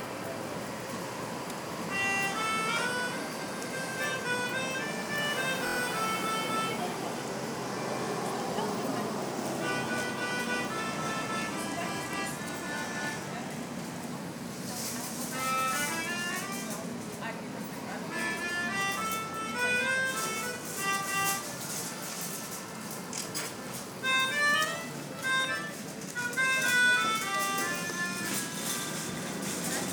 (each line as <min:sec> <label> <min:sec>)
0:01.7 harmonica 0:08.2
0:09.1 harmonica 0:13.5
0:15.2 harmonica 0:17.0
0:18.0 harmonica 0:23.2
0:24.0 harmonica 0:29.9